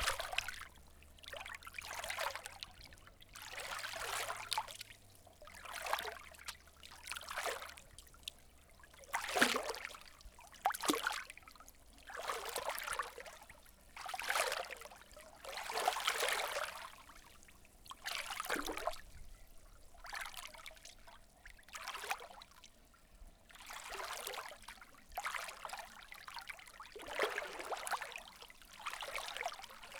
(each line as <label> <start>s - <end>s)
Light Splashing Waves 0.0s - 7.8s
Light Splashing Waves 27.0s - 29.9s